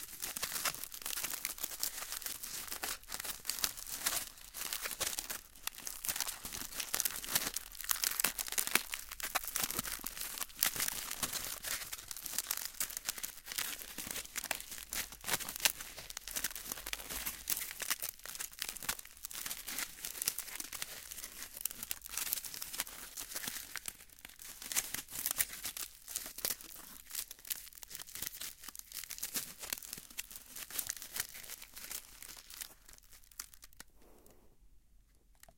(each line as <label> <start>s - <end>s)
Aluminum Foil Crinkle 0.0s - 33.9s